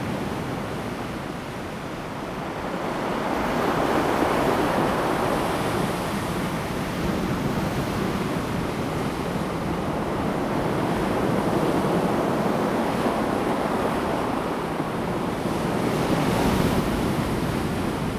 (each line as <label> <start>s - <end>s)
Waves 0.0s - 18.1s